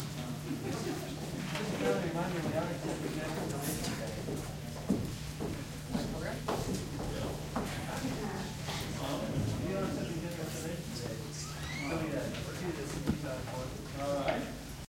audience engaged in muted conversation 0.0 - 14.8

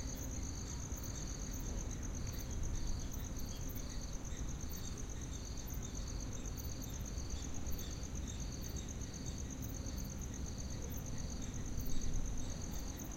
crickets 0.0 - 13.1

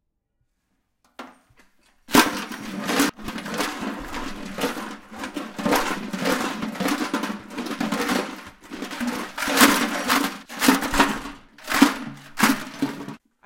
tin garbage bin 2.0 - 13.2

